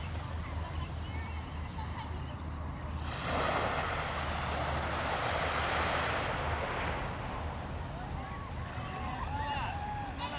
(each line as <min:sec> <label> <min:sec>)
0:00.0 waves 0:10.3